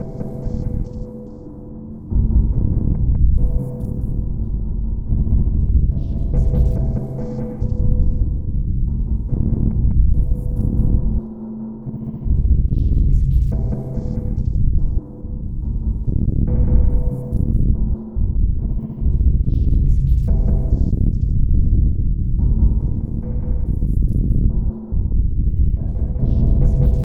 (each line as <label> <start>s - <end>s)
Drum 5.1s - 8.3s
Drum 23.6s - 27.0s